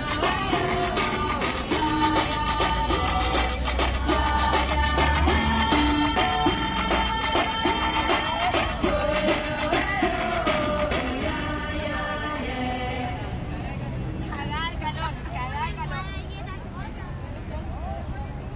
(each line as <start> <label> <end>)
0.0 musica bailable 12.7
0.0 maracas 12.8
0.0 zumbido de fondo 13.0
0.0 pitos 13.1
0.0 Cornetas 13.2